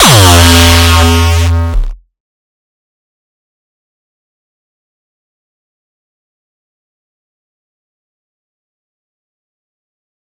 0.0s hardcore kick 2.0s

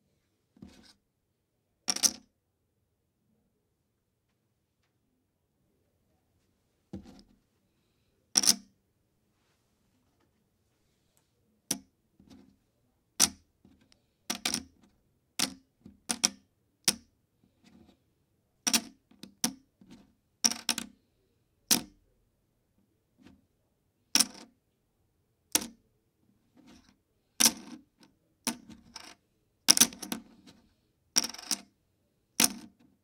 1.9s Placing plastic poker chips onto a wooden table 2.3s
8.4s Placing plastic poker chips onto a wooden table 8.7s
13.2s Placing plastic poker chips onto a wooden table 14.7s
15.4s Placing plastic poker chips onto a wooden table 17.0s
18.7s Placing plastic poker chips onto a wooden table 19.6s
20.5s Placing plastic poker chips onto a wooden table 20.9s
24.2s Placing plastic poker chips onto a wooden table 24.5s
25.5s Placing plastic poker chips onto a wooden table 25.8s
26.6s Placing plastic poker chips onto a wooden table 30.6s
31.2s Placing plastic poker chips onto a wooden table 31.7s
32.4s Placing plastic poker chips onto a wooden table 32.9s

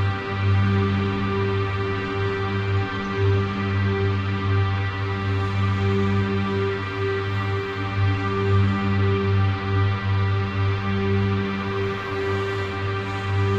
9.8s Chrunched Church Organ Drone Pad 13.5s

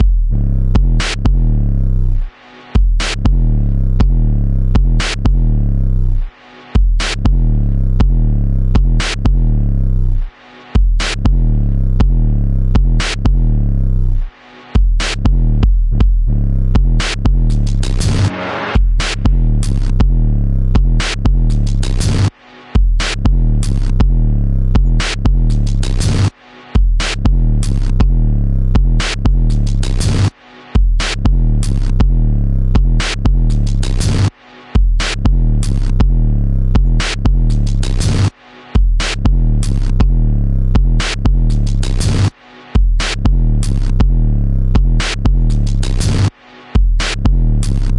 0.0s Gritty and distorted drumloop 1.6s
2.8s Gritty and distorted drumloop 5.6s
6.8s Gritty and distorted drumloop 9.6s
10.8s Gritty and distorted drumloop 13.6s
14.8s Gritty and distorted drumloop 47.9s

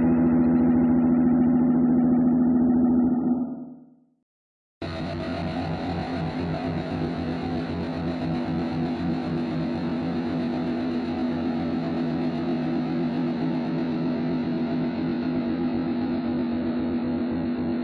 0.0s guitar 3.8s
4.8s guitar 17.8s

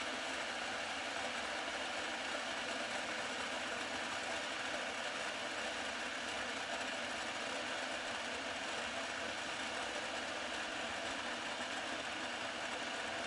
0.0s Electric water boiler 13.2s

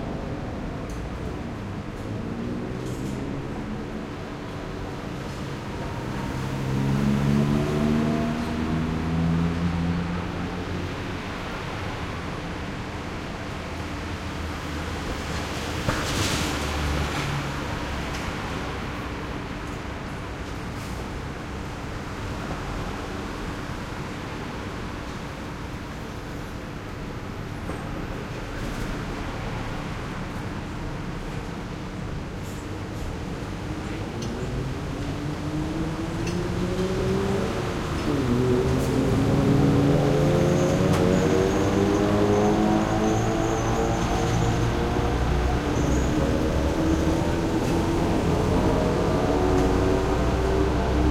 33.8s motorcycles 51.1s

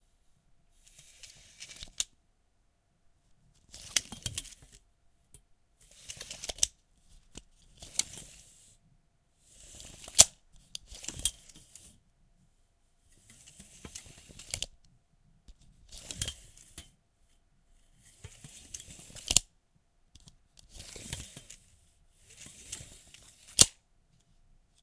0.8s Metal tape measure, multiple opening and closing sounds 2.2s
3.6s Metal tape measure, multiple opening and closing sounds 4.8s
5.8s Metal tape measure, multiple opening and closing sounds 8.7s
9.6s Metal tape measure, multiple opening and closing sounds 12.0s
13.2s Metal tape measure, multiple opening and closing sounds 14.8s
15.9s Metal tape measure, multiple opening and closing sounds 17.0s
18.1s Metal tape measure, multiple opening and closing sounds 19.5s
20.2s Metal tape measure, multiple opening and closing sounds 23.8s

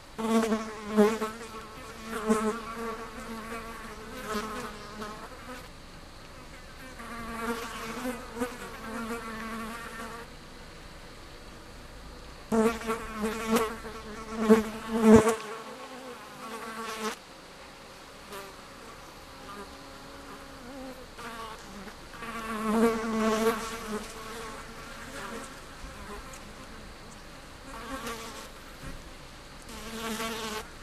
0.0s flies 30.8s

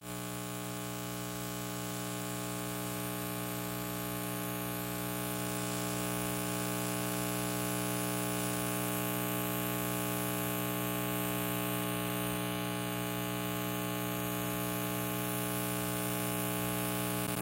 16.1s Digital Static from TV 17.4s

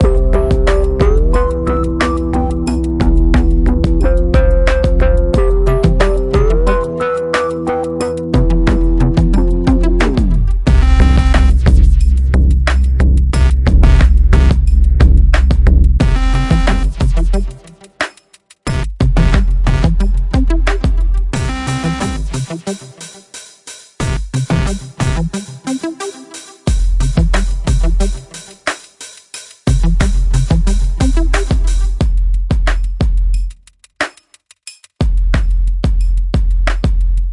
7.4s dubstep sound 17.7s
18.7s dubstep sound 23.2s
29.7s dubstep sound 32.0s

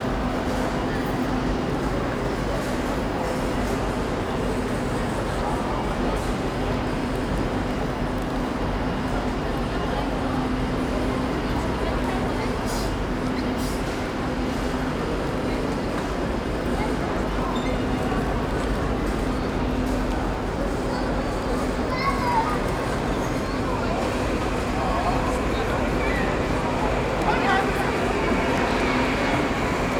0.0s people walking by 29.9s
18.0s voices 29.9s
22.6s ambient engines 29.9s

